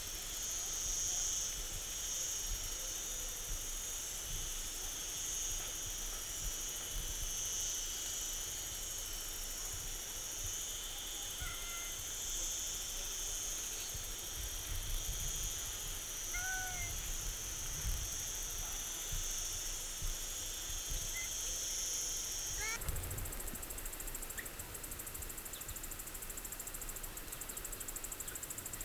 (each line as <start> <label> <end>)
0.0 cicadas 28.8
20.9 birds 21.4